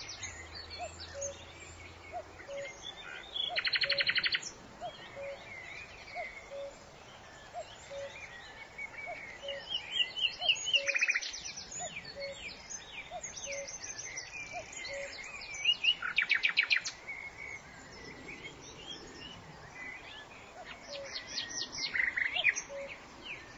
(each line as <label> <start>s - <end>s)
Nightingale 0.0s - 23.5s
Cuckoo 2.1s - 2.8s
Cuckoo 3.5s - 5.5s
Cuckoo 6.1s - 6.8s
Cuckoo 7.4s - 8.3s
Cuckoo 10.4s - 12.5s
Cuckoo 14.5s - 15.3s
Cuckoo 20.6s - 23.4s